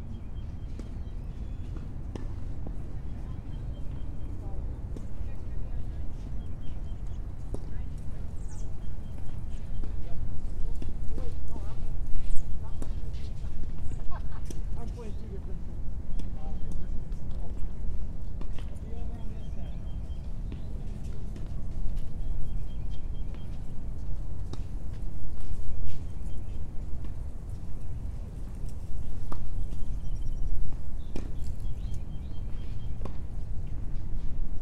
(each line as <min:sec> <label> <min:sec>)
0:00.0 birds 0:34.4